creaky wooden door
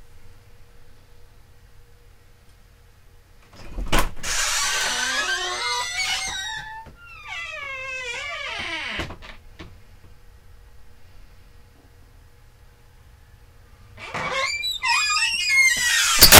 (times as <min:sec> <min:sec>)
0:03.6 0:09.4, 0:14.0 0:16.3